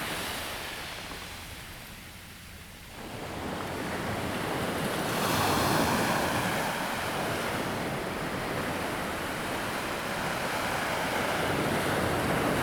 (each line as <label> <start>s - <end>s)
waves 3.1s - 12.6s